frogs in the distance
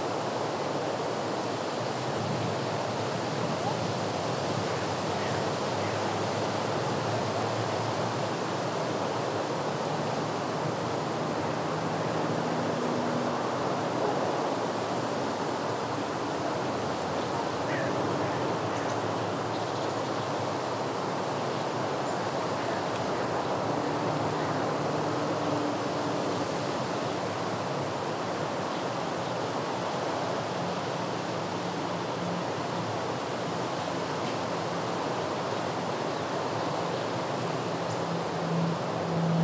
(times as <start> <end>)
17.2 20.8